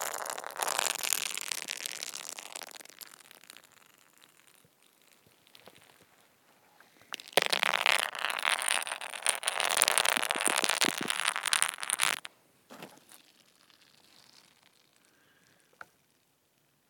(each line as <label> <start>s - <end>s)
Scraping frozen ice 7.3s - 12.2s